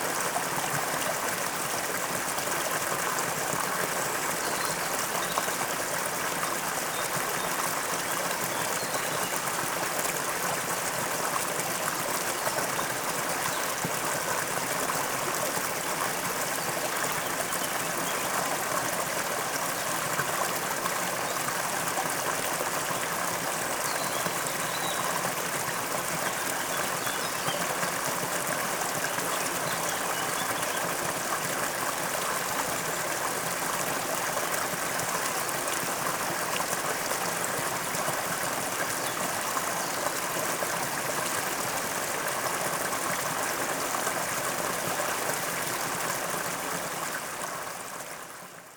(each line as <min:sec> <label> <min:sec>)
0:00.0 snappy stream flowing towards the lake 0:48.7